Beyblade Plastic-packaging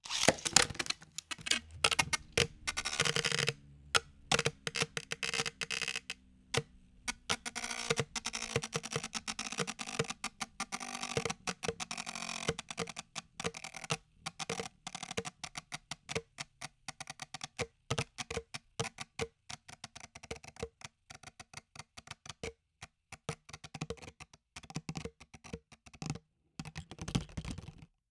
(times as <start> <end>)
0.0 3.6